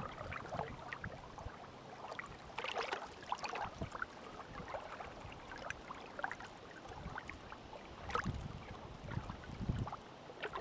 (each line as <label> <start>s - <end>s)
wind blowing 0.0s - 1.6s
water gurgling 0.0s - 10.6s
wind blowing 8.0s - 10.0s